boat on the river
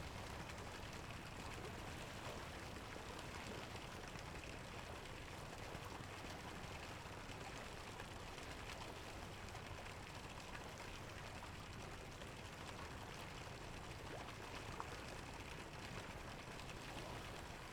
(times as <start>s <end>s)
10.9s 17.7s